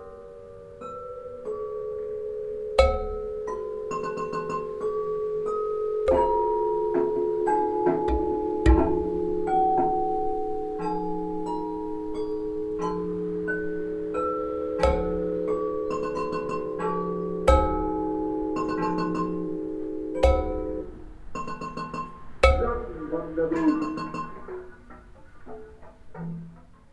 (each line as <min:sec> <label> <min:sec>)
0:00.0 sample playback of sounds 0:26.9
0:06.0 percussive play of the objects 0:10.1
0:14.8 percussive play of the objects 0:19.5
0:20.2 percussive play of the objects 0:23.0